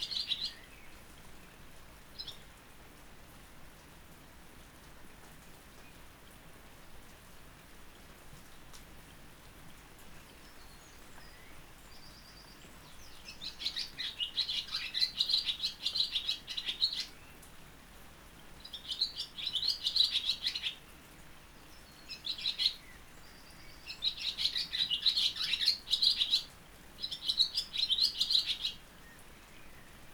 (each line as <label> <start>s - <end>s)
rain 0.0s - 30.1s
blackbird 11.3s - 17.2s
blackbird 18.7s - 20.8s
blackbird 22.0s - 28.8s